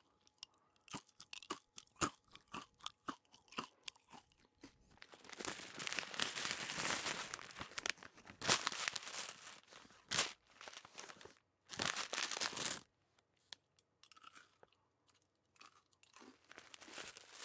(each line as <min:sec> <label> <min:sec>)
0:00.0 eating m&m's 0:06.6
0:05.0 packaging-noises 0:12.8
0:12.3 eating m&m's 0:17.4
0:16.5 packaging-noises 0:17.4